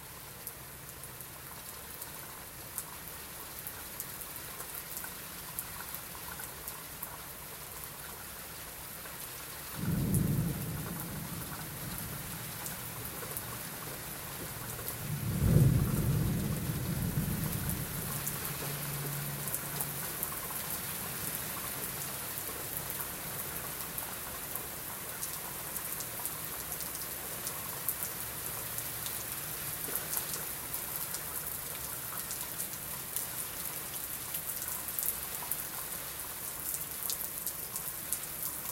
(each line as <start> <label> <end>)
0.0 Rain 38.7
9.8 Thunder 12.9
15.0 Thunder 18.2